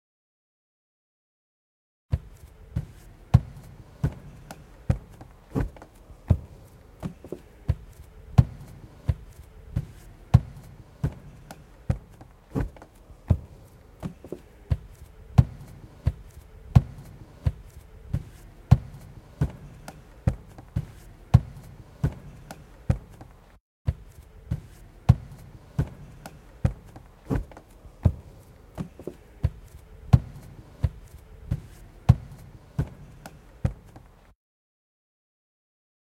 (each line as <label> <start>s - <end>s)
footsteps 2.1s - 34.4s